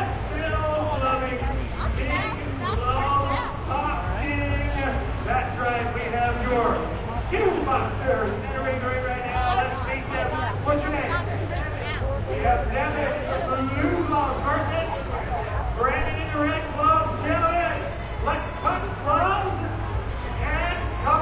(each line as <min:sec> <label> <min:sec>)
0:00.0 announcer's voice 0:04.8
0:00.0 chatter of the crowd 0:21.2
0:01.8 two girls chatting 0:03.5
0:07.4 announcer's voice 0:19.5
0:09.4 two girls chatting 0:12.1